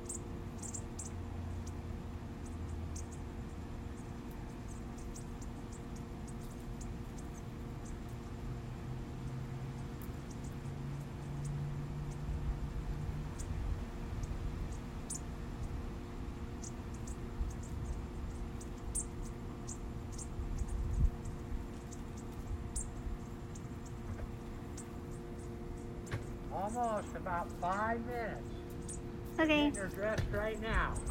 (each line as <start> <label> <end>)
0.0 AC background noise 31.1
0.0 Little tiny birds hiding in some small trees 31.1